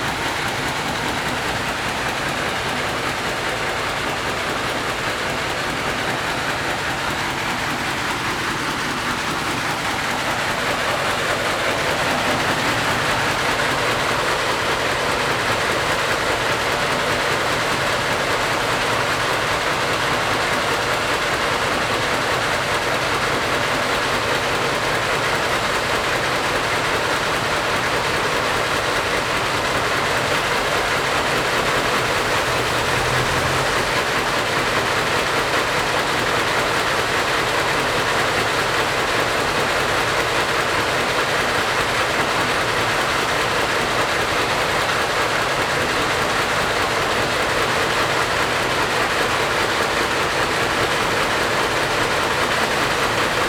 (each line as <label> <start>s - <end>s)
Traffic Sound 30.0s - 35.2s
Traffic Sound 51.9s - 53.4s